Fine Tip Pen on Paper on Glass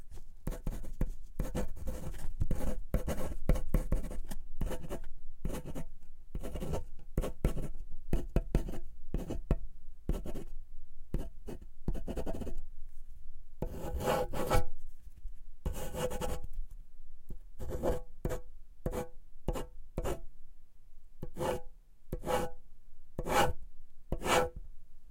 0:00.4 0:05.8, 0:06.4 0:09.5, 0:13.6 0:14.7, 0:15.7 0:16.5, 0:17.6 0:20.2, 0:21.2 0:22.6, 0:23.2 0:24.6

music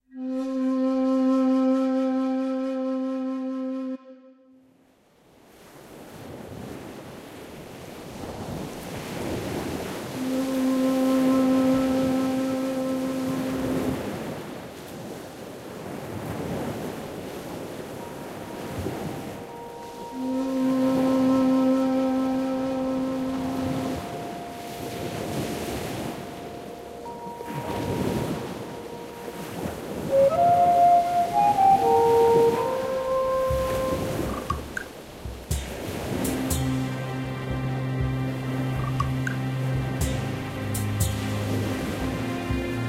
0:00.0 0:04.6, 0:10.2 0:14.0, 0:18.0 0:25.6, 0:26.2 0:42.8

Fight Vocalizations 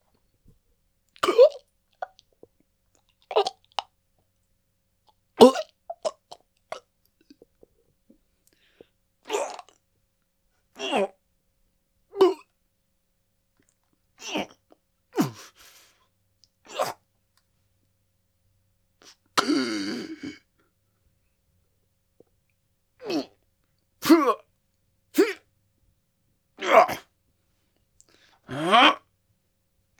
0:19.4 0:20.4, 0:26.6 0:27.1, 0:28.5 0:29.1

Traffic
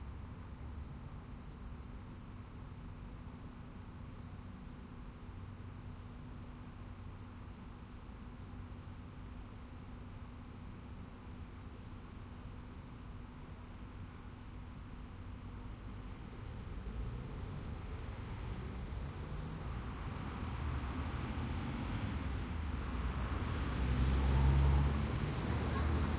0:13.7 0:26.1

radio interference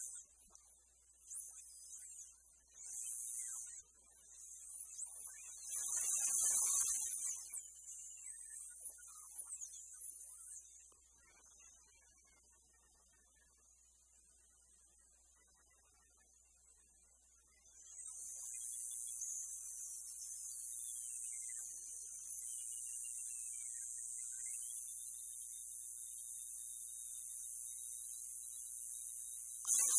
0:29.7 0:29.9

